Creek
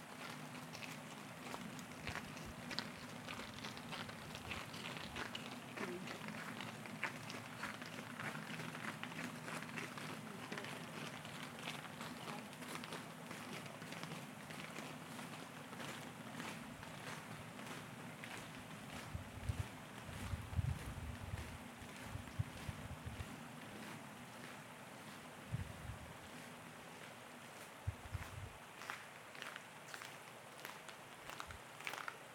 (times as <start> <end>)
0.0 18.9, 28.6 32.3